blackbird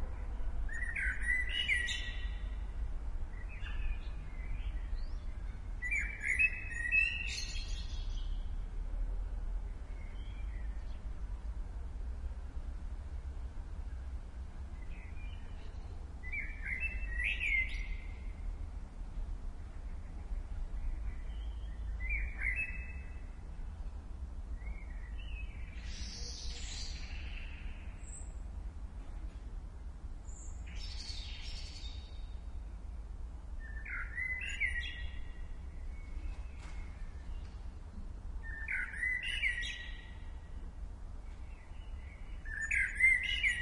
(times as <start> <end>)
0.7 2.6, 3.3 8.5, 14.8 18.3, 20.0 23.4, 24.6 28.4, 30.3 32.4, 33.6 37.7, 38.4 40.5, 41.2 43.6